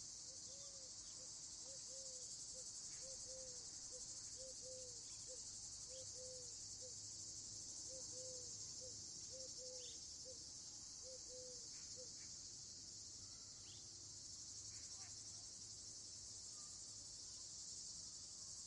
Cicades 0:00.0 - 0:18.6
Crickets 0:00.0 - 0:18.6
Eagle Owl 0:02.9 - 0:06.9
Eagle Owl 0:07.9 - 0:10.4
Eagle Owl 0:11.0 - 0:12.3

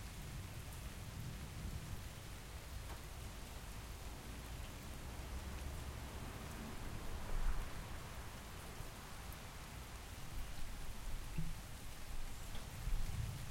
rain 0:00.0 - 0:13.5

